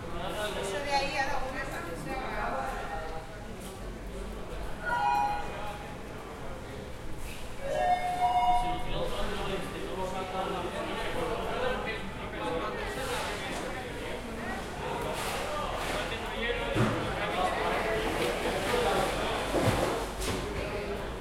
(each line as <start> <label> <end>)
0.0 fishermen talking and working 21.2
16.9 water 19.8